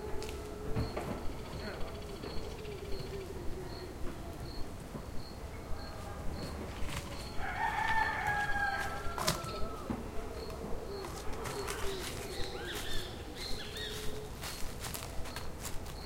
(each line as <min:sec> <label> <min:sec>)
0:00.0 monkeys 0:07.4
0:00.0 chickens around the mic 0:16.0
0:08.4 monkeys 0:16.0